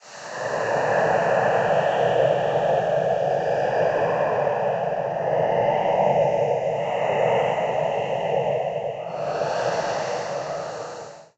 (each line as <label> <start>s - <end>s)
Ghost sound 9.0s - 11.3s